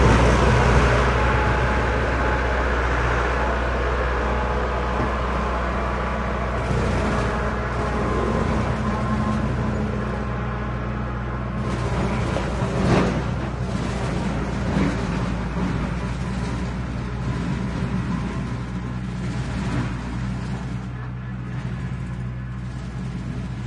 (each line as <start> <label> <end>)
0.0 tractor on rough terrain 23.6